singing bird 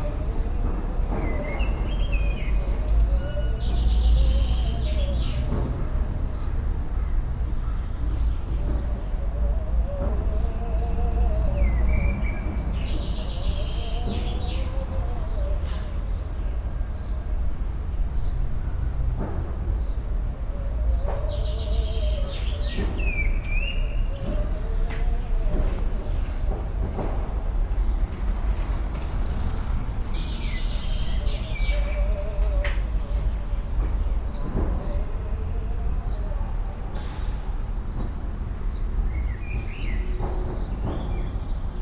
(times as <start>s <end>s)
0.0s 5.8s, 7.5s 17.4s, 19.8s 28.1s, 29.4s 37.4s